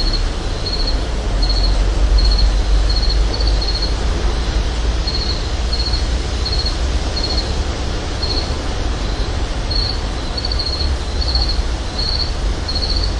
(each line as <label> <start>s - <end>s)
crickets 0.0s - 13.1s
frogs 0.0s - 13.1s
wind 0.0s - 13.1s